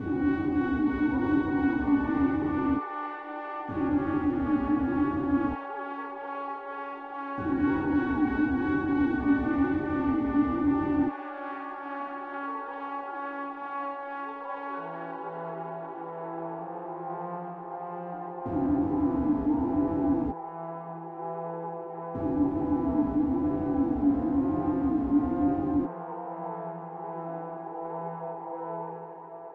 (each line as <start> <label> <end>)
0.0 synth brass 29.5
3.7 synth air 5.6
7.4 synth air 11.1
22.2 synth air 25.9